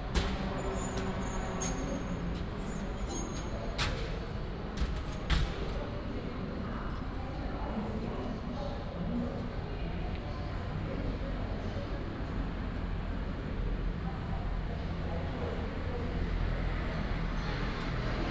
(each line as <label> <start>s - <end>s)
traffic sound 12.0s - 18.3s